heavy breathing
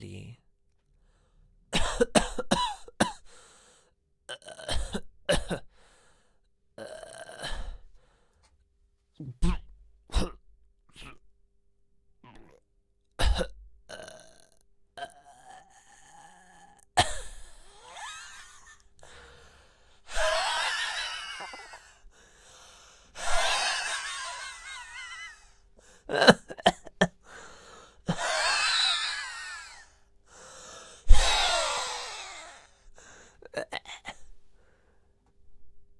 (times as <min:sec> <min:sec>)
0:03.2 0:03.9, 0:19.0 0:26.1, 0:27.1 0:35.1